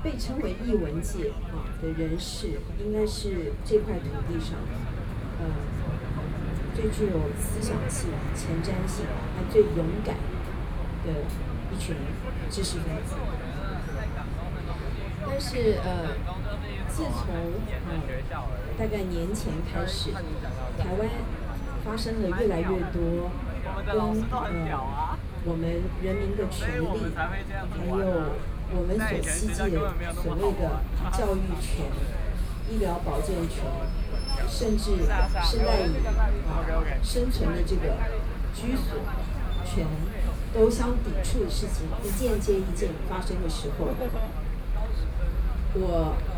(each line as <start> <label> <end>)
0.0 Speech 46.3